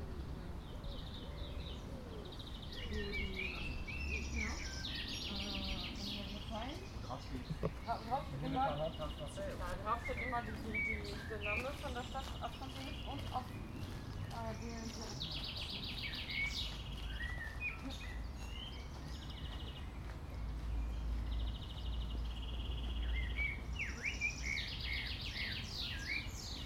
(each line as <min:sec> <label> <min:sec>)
0:00.0 Birds 0:26.6
0:00.0 People pass by in conversation 0:26.6
0:07.4 footsteps on gravel 0:22.2